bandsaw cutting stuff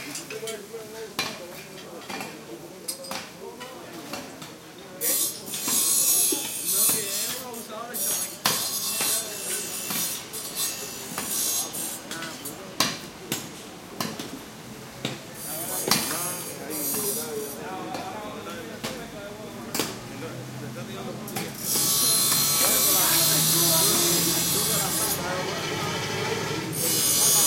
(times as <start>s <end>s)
5.0s 12.4s, 15.4s 17.6s, 21.3s 27.4s